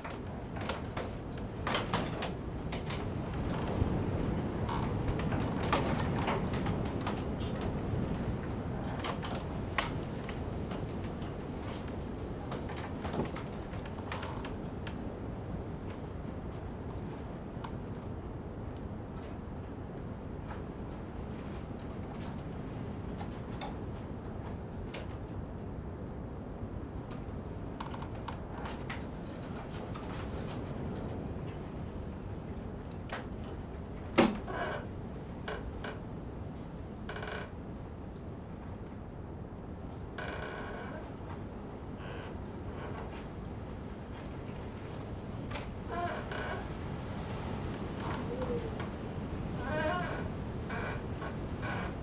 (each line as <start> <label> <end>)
0.0 Wind in einem Holzschopf 40.2
40.9 Wind in einem Holzschopf 52.0